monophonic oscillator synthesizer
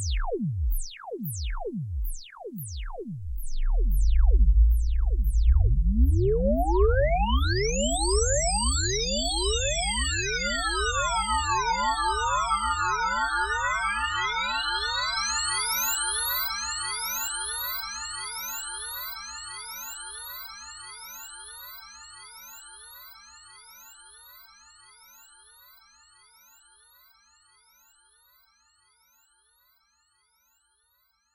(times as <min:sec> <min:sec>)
0:00.0 0:09.2